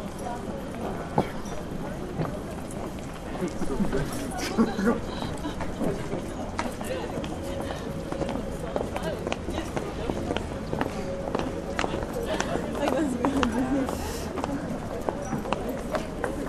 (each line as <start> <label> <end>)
0.0 street vendor of all kinds of newspapers 16.4